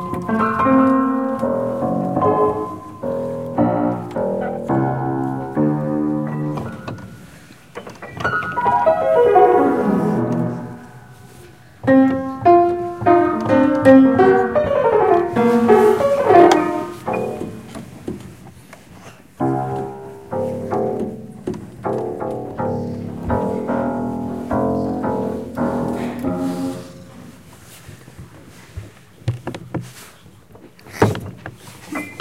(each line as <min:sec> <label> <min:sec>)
0:00.0 plays the out of tune piano 0:28.4